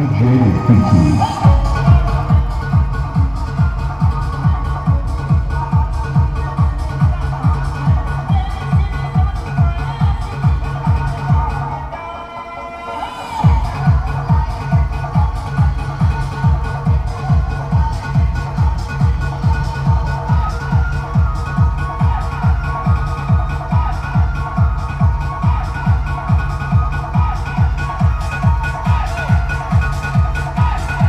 mobile soundsystem circulates on the village's main road 0:00.0 - 0:31.0
young men and ... horses dancing 0:00.0 - 0:31.0

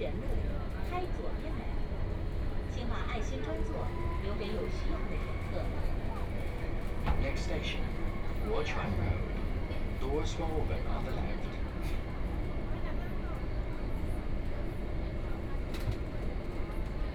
Subway 0:00.0 - 0:17.1

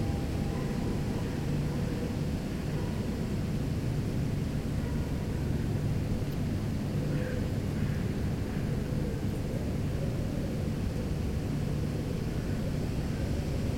bell 0:00.0 - 0:01.2

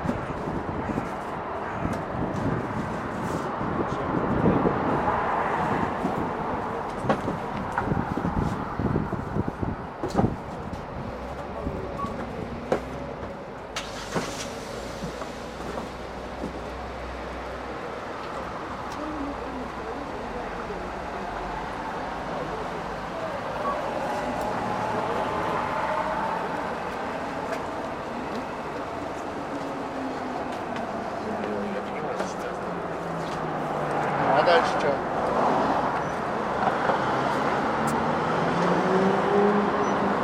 wind blowing 0:00.0 - 0:12.6
a tram goes 0:00.0 - 0:34.2
cars go 0:00.0 - 0:40.2
a truck goes 0:02.3 - 0:17.7
a car starts 0:13.7 - 0:16.0
people talking 0:31.2 - 0:32.9
people talking 0:34.3 - 0:35.0

